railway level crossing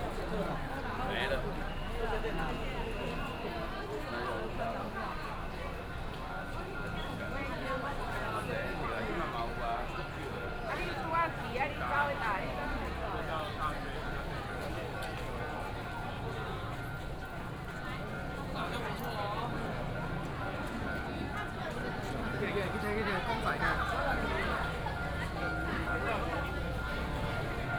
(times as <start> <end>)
12.6 27.7